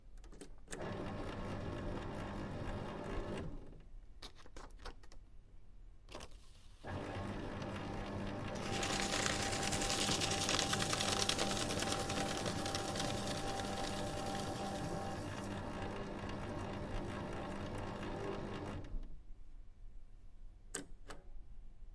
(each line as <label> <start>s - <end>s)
Documents being shredded by a paper shredder 0.8s - 3.6s
Documents being shredded by a paper shredder 6.8s - 19.0s